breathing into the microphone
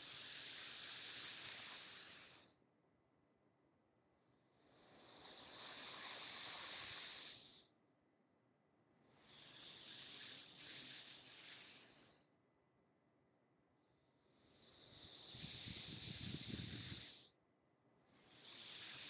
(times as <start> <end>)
9.2 12.3, 14.6 17.3